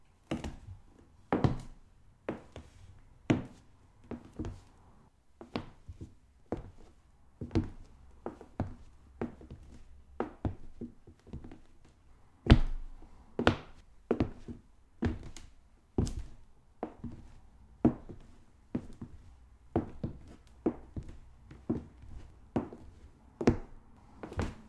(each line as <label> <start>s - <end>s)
boots on wood 19.8s - 24.6s